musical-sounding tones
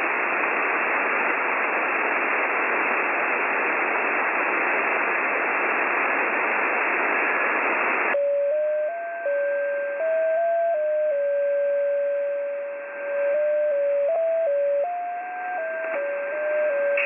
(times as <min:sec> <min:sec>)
0:08.2 0:17.0